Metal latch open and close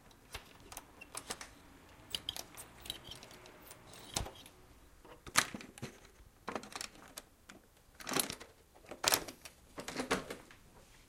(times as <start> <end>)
0.0 7.2